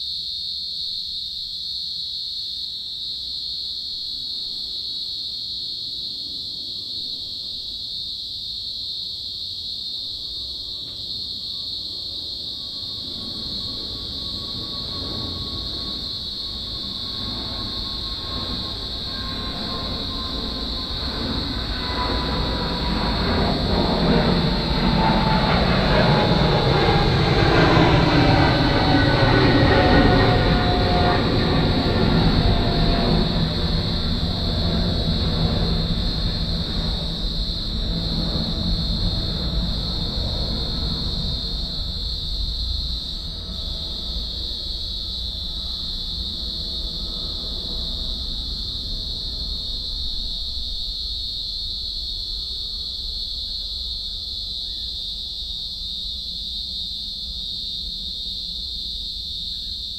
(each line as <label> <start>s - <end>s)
cicada 0.0s - 59.9s
aeroplane drone 10.3s - 55.0s